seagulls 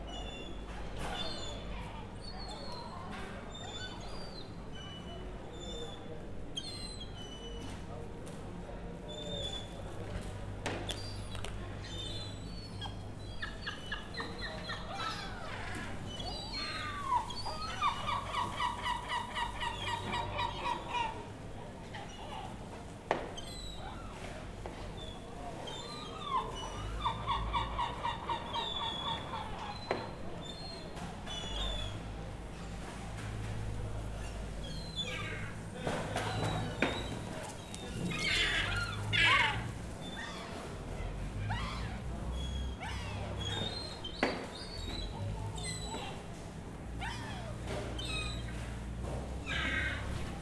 0:10.9 0:22.6, 0:24.9 0:32.0, 0:33.9 0:46.3, 0:46.9 0:48.8, 0:49.4 0:50.4

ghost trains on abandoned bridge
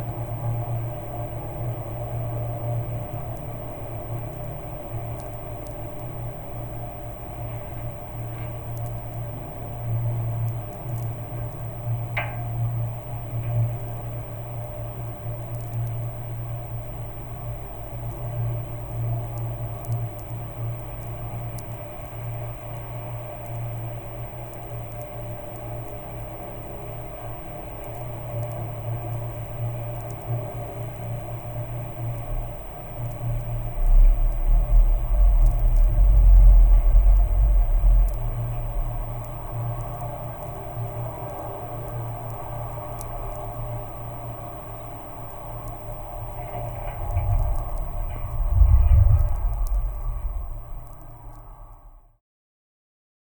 0:32.3 0:40.7, 0:44.8 0:52.0

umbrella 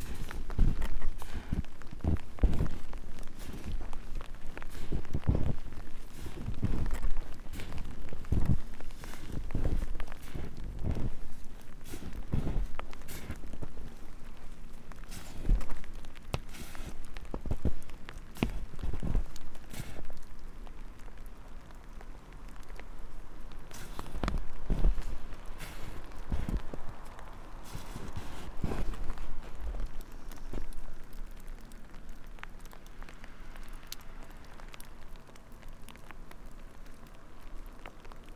0:00.0 0:20.3, 0:23.6 0:32.8

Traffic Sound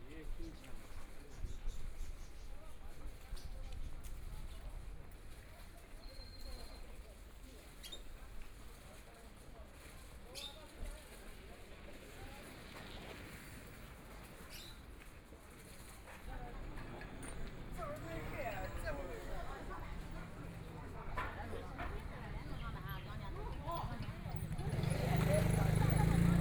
0:16.4 0:26.4

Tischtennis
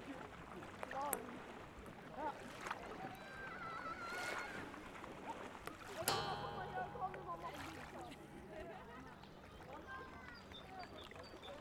0:06.1 0:11.6

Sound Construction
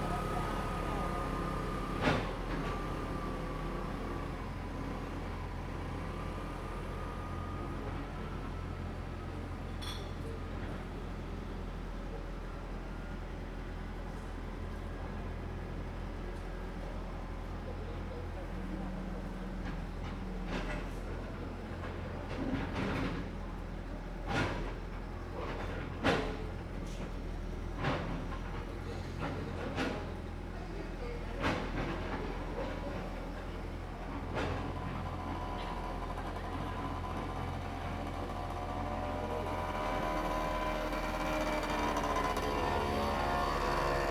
0:33.8 0:44.1

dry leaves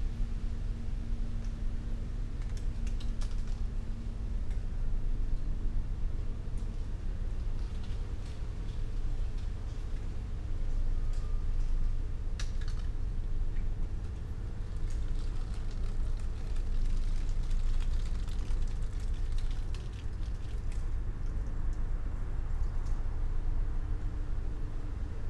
0:14.4 0:21.2

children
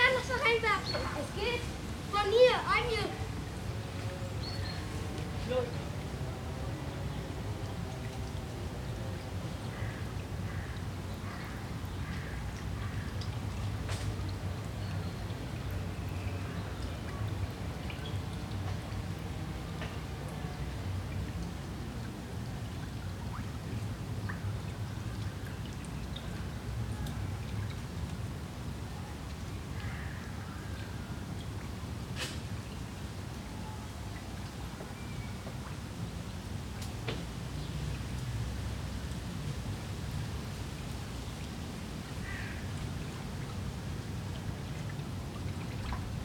0:00.0 0:03.4

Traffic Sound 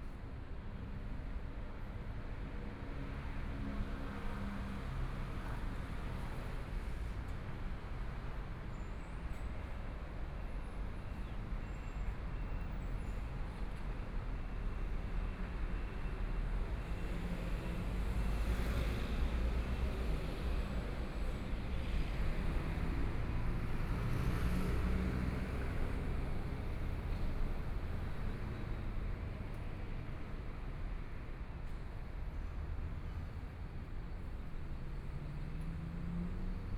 0:15.6 0:36.7

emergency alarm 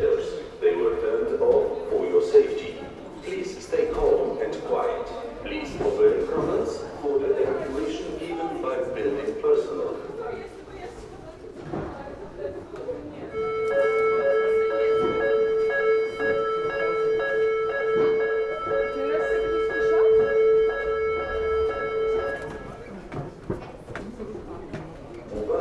0:13.3 0:23.0

